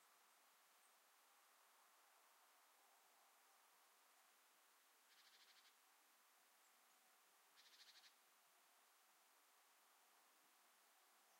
birds 0:05.0 - 0:05.8
birds 0:06.6 - 0:08.2

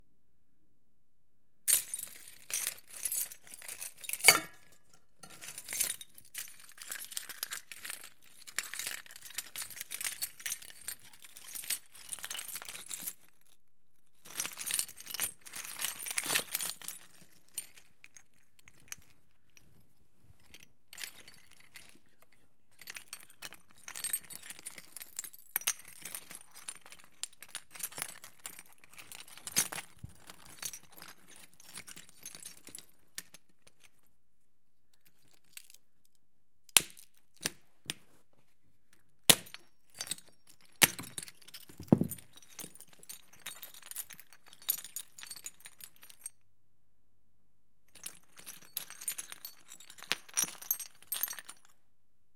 pieces of glass shards 0:04.0 - 0:05.6

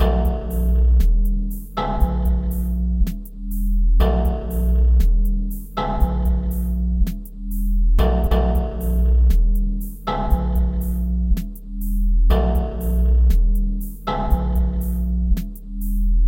bass 0:00.0 - 0:16.2
drums 0:00.0 - 0:16.2
piano 0:08.0 - 0:11.6
piano 0:12.3 - 0:15.5

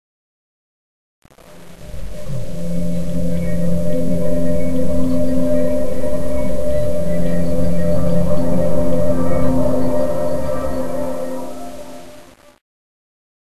Midi instruments 0:01.4 - 0:12.6

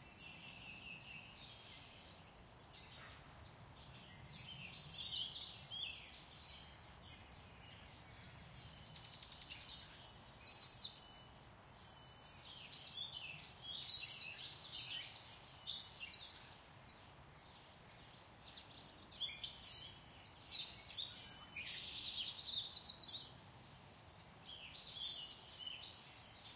birdsong 0:00.0 - 0:26.5

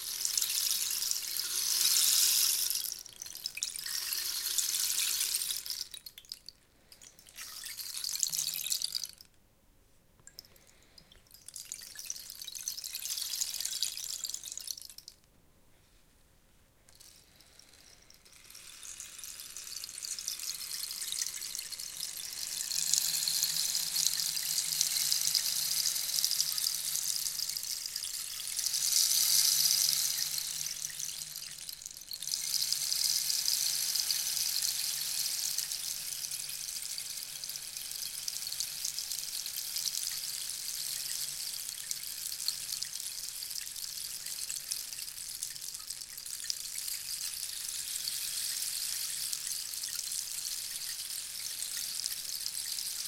Rain stick 0:00.0 - 0:09.3
Rain stick 0:10.3 - 0:15.2
Rain stick 0:16.9 - 0:53.0

